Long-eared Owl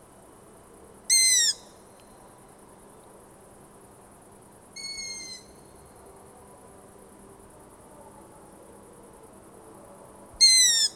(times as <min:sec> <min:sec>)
0:01.1 0:01.8, 0:04.8 0:05.8, 0:10.4 0:10.9